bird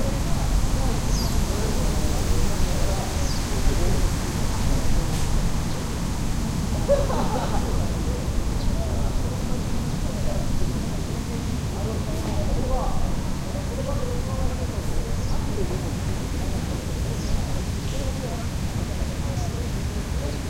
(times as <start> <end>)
1.1 1.4